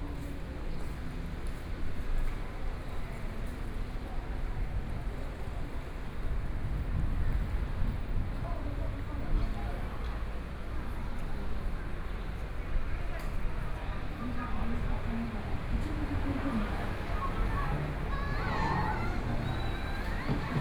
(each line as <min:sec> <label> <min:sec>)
0:15.2 Traffic Sound 0:20.6
0:15.2 Walking on the road 0:20.6